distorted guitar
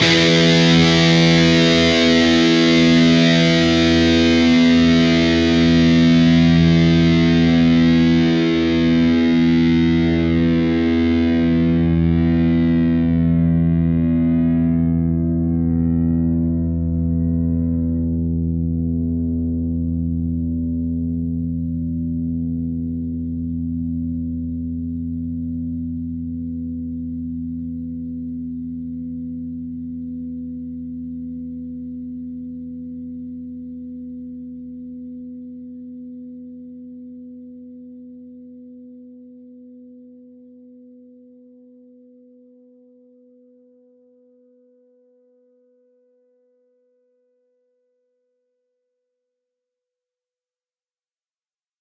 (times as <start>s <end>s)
0.0s 34.8s